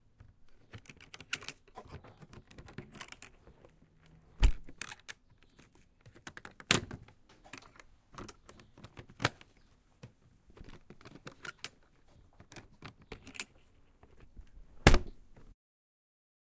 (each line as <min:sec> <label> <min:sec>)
0:00.2 Metal case, opening and closing 0:09.7
0:00.5 Clips locking 0:03.4
0:04.4 Clips locking 0:09.5
0:10.5 Metal case, opening and closing 0:15.5
0:10.6 Clips locking 0:11.8
0:12.4 Clips locking 0:13.6